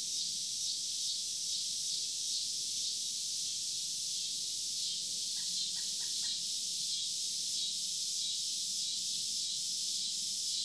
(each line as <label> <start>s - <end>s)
typical summer cicadas 0.0s - 10.6s
excited Pileated woodpecker 5.4s - 6.4s